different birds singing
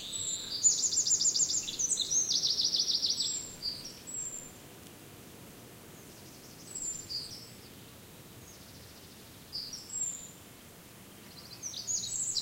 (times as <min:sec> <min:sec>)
0:00.0 0:04.5